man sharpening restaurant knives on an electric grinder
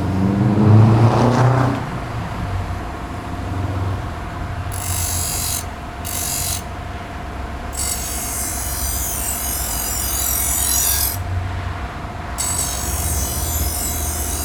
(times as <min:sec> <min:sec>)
0:04.7 0:06.8, 0:07.7 0:11.3, 0:12.4 0:14.4